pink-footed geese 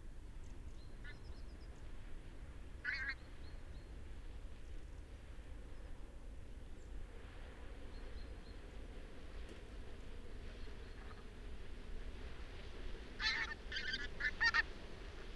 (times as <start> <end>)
13.2 15.3